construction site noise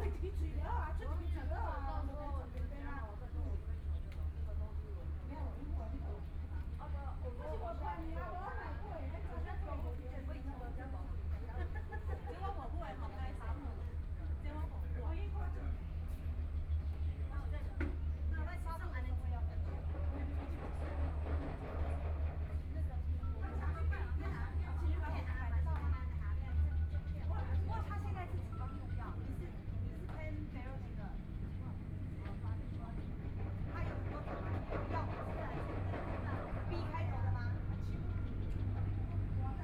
8.0 39.6

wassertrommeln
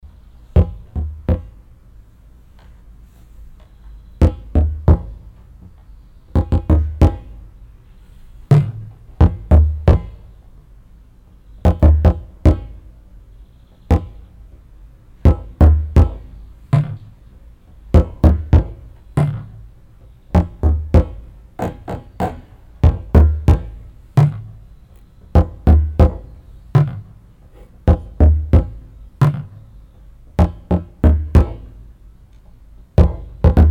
13.8 33.7

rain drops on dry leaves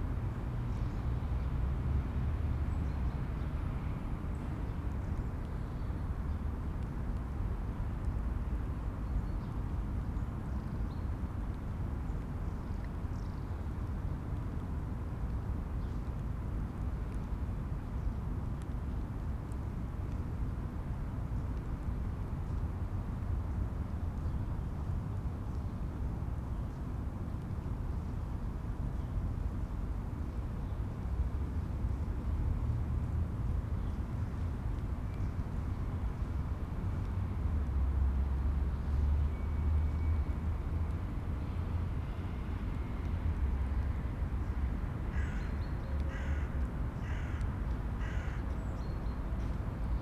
11.2 24.3

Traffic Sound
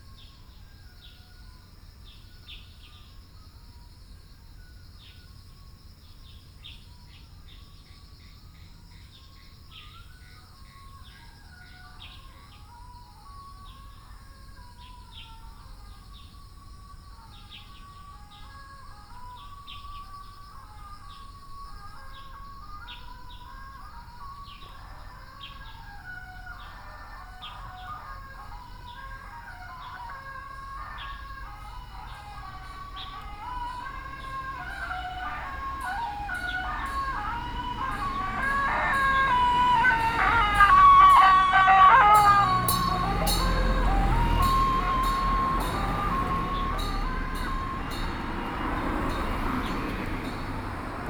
24.7 51.0

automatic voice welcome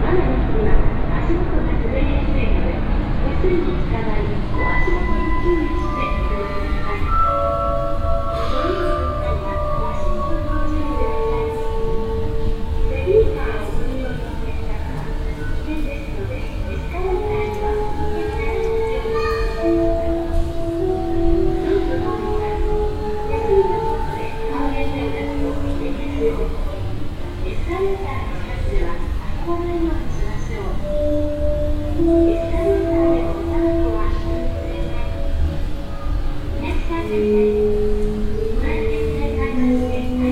30.7 35.7

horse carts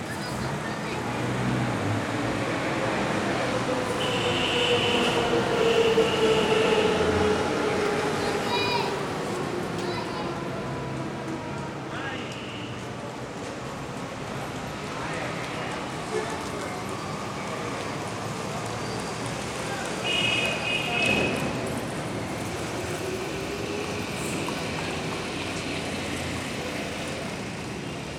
12.2 28.1

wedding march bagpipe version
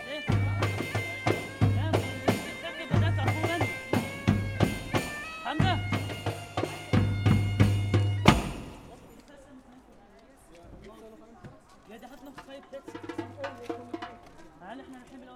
0.0 9.2

